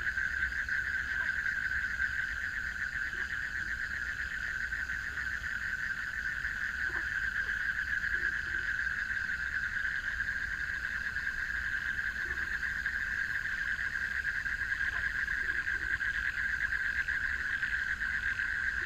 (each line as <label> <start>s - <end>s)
Frogs chirping 0.0s - 18.8s